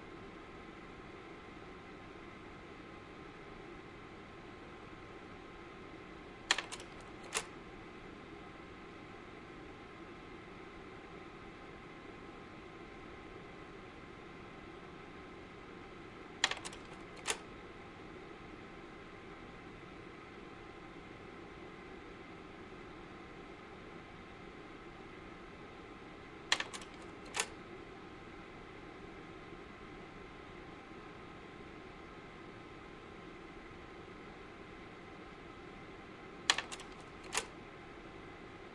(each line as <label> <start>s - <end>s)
slide projector 6.5s - 7.5s
slide projector 16.4s - 17.4s
slide projector 26.5s - 27.6s
slide projector 36.5s - 37.5s